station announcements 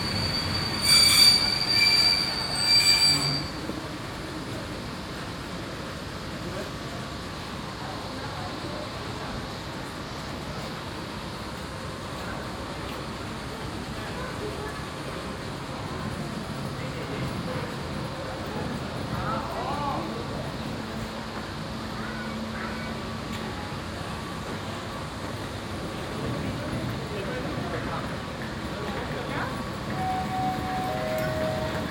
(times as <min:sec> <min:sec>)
0:29.5 0:31.9